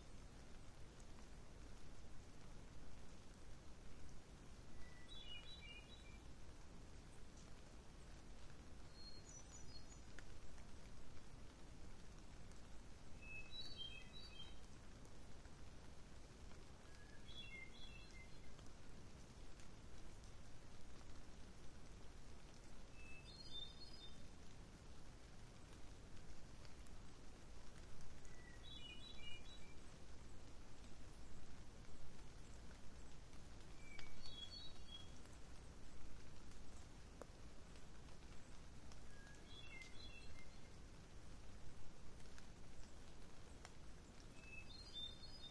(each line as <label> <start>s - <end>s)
light rain 0.0s - 45.5s
wind 0.0s - 45.5s
bird song 4.7s - 6.3s
bird song 8.8s - 10.2s
bird song 13.2s - 14.8s
bird song 16.8s - 18.6s
bird song 22.9s - 24.3s
bird song 28.2s - 30.4s
bird song 32.4s - 35.7s
bird song 38.4s - 40.8s
bird song 44.0s - 45.5s